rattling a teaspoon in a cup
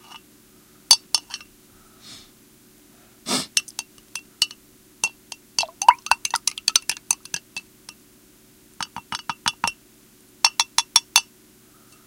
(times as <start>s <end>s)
3.6s 7.6s